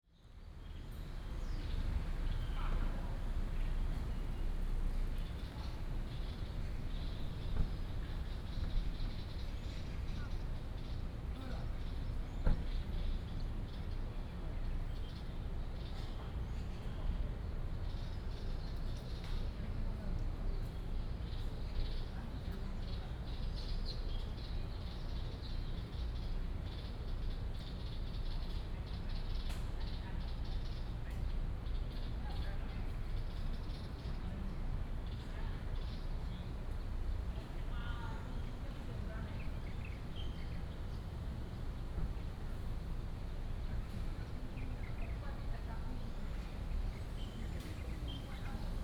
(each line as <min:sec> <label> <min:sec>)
0:34.7 Traffic noise 0:48.8